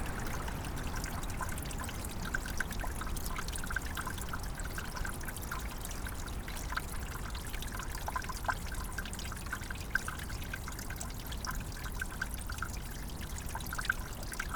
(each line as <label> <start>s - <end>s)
Little Stream water under an ice cover 0.0s - 14.5s